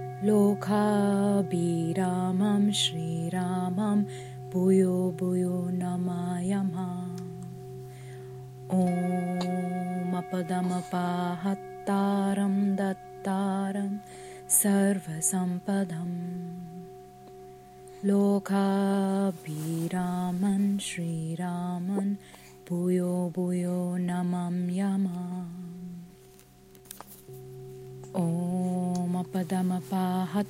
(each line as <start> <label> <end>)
0.0 mantra 7.7
8.7 mantra 17.0
18.0 mantra 26.1
28.1 mantra 30.4